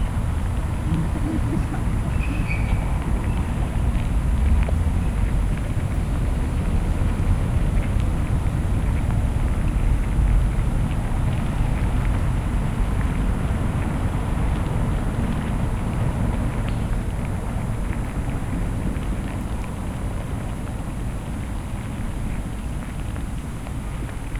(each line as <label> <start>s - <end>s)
ants in their hill 0.0s - 4.3s